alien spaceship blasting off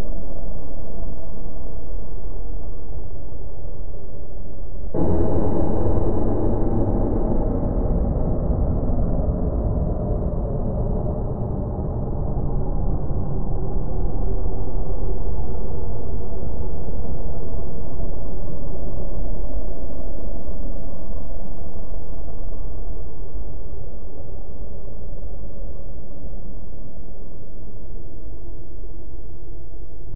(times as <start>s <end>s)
5.0s 10.1s